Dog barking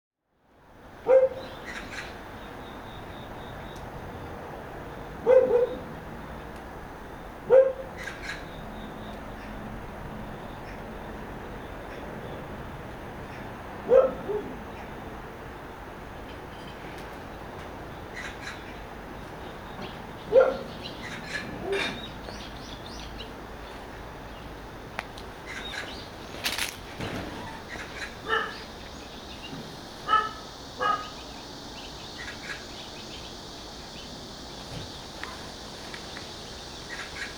1.0 1.5, 5.2 5.9, 7.5 7.9, 13.9 14.6, 20.3 20.8, 28.2 28.6, 30.0 31.2

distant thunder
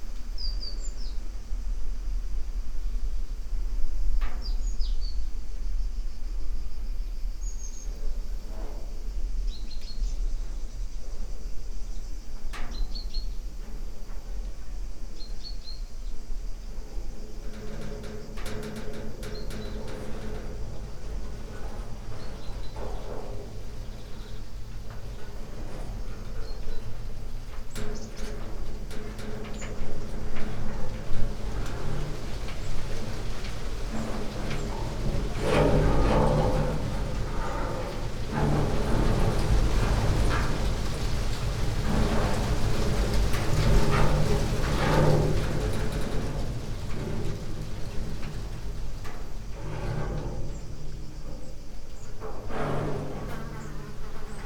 17.3 54.4

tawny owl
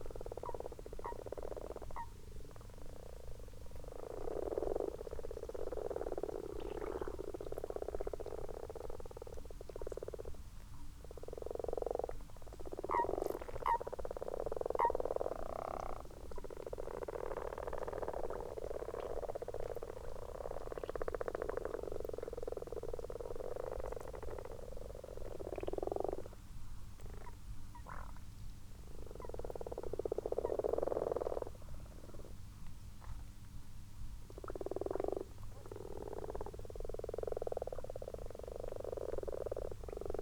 0.0 5.6, 11.0 21.0

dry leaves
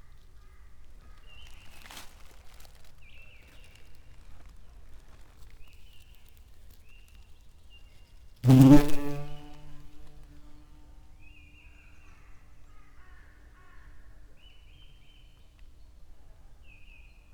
0.3 7.6

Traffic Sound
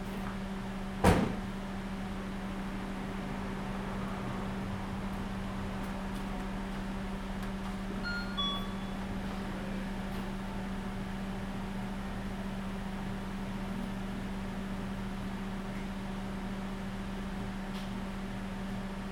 2.8 8.1

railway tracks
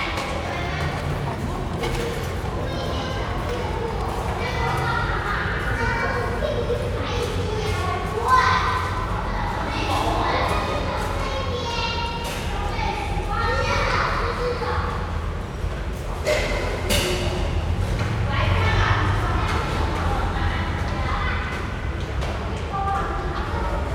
0.0 11.8

